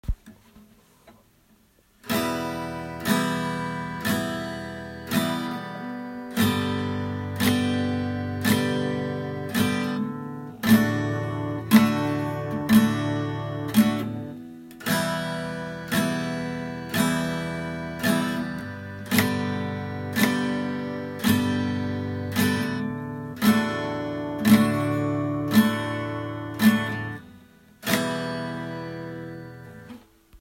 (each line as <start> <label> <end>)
2.1 chords of a guitar played repetedly 30.0